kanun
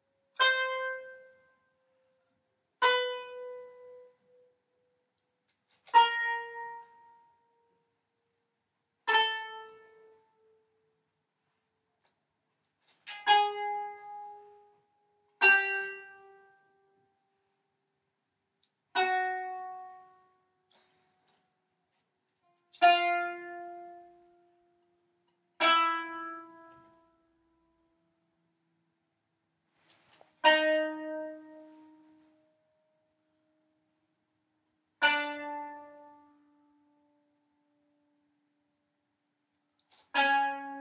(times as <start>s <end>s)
0.0s 8.0s, 9.0s 10.8s, 11.9s 17.1s, 18.7s 27.8s, 29.8s 32.6s, 35.0s 37.8s, 39.8s 40.8s